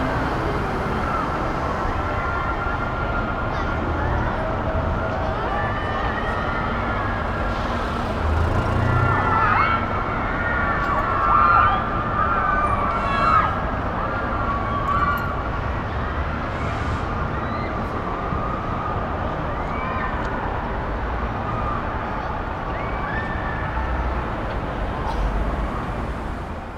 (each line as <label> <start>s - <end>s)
distant christmas fun fair 0.0s - 26.7s
shouting girls 8.4s - 15.9s